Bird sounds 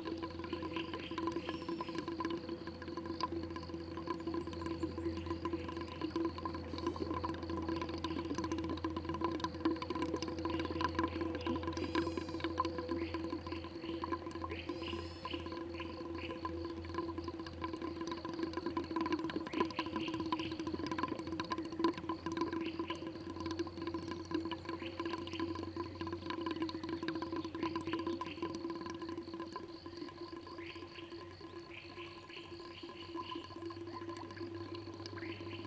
0:00.0 0:02.9, 0:10.3 0:18.3, 0:19.0 0:28.9, 0:30.5 0:35.6

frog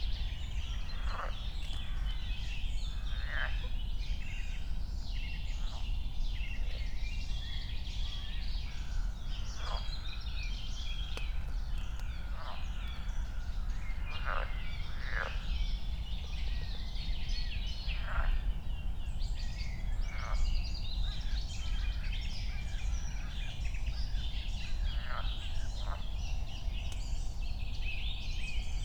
0:00.6 0:03.7, 0:08.1 0:15.6, 0:17.9 0:18.4, 0:20.1 0:20.4, 0:24.1 0:26.0

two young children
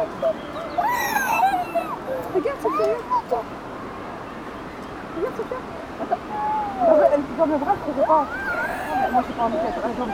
0:00.7 0:03.6, 0:06.2 0:10.1

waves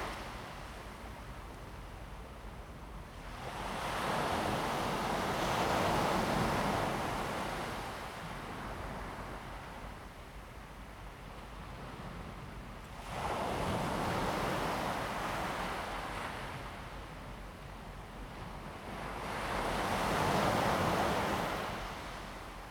0:18.1 0:22.7

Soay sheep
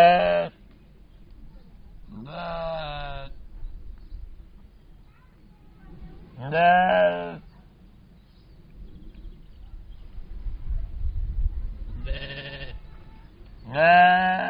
0:11.8 0:14.4

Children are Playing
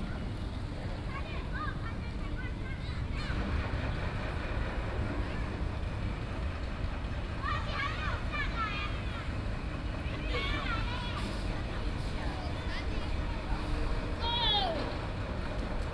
0:07.4 0:15.2

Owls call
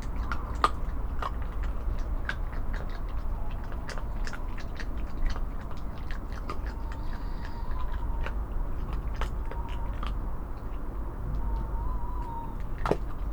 0:06.5 0:08.4, 0:09.2 0:10.2, 0:11.2 0:13.3

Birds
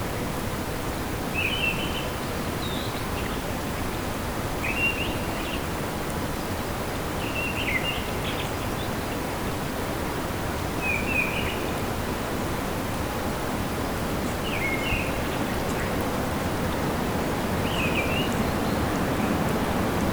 0:14.2 0:20.1

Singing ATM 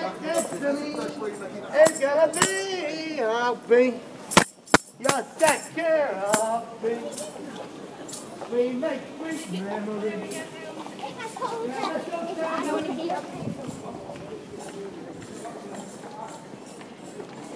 0:00.0 0:04.0

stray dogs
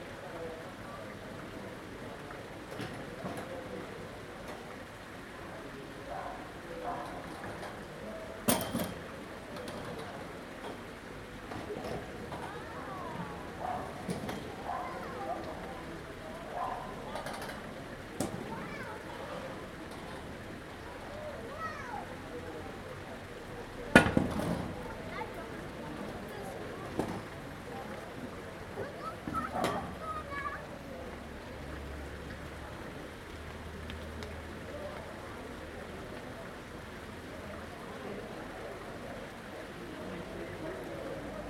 0:13.6 0:14.0

